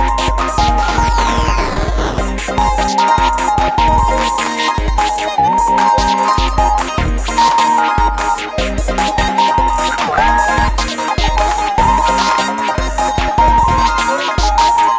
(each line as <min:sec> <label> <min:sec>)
0:00.0 8 bit synth 0:14.9
0:00.0 beat 0:14.9